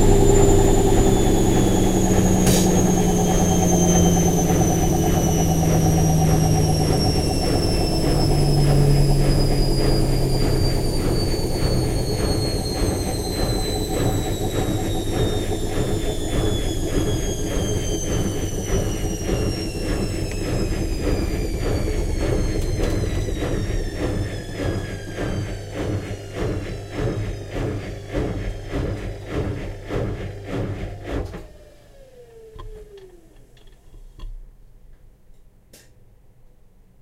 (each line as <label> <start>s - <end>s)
washing mashine 0.0s - 33.0s